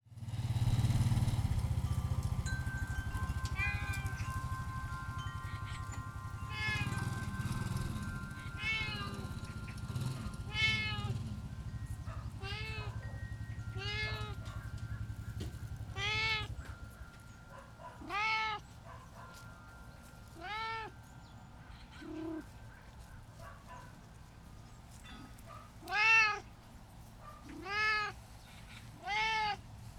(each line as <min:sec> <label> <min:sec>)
0:00.1 postman passing by on a motorbike 0:18.7
0:00.1 airplane flying overhead 0:29.9
0:00.7 wind chimes ringing 0:23.6
0:00.9 distant dogs barking 0:25.9
0:02.2 birds singing 0:23.9
0:27.1 distant dogs barking 0:27.9